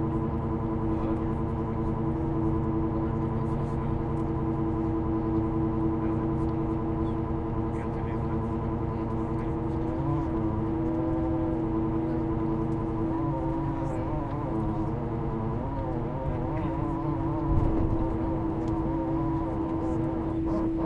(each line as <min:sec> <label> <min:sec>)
0:00.0 Plane takeoff 0:20.8
0:00.0 engine 0:20.8